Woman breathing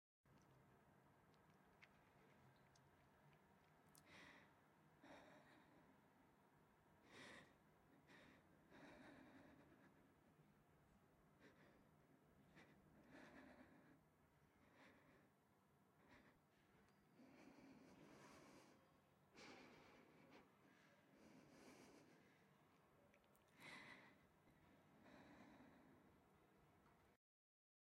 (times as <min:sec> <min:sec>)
0:03.9 0:06.1, 0:07.0 0:10.4, 0:11.3 0:26.4